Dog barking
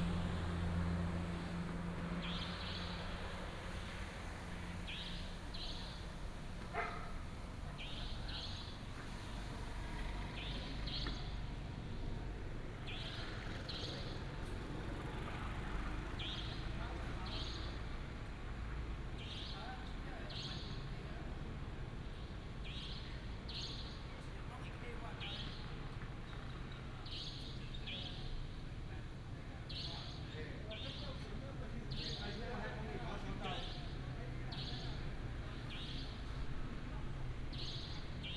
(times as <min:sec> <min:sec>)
0:06.7 0:07.2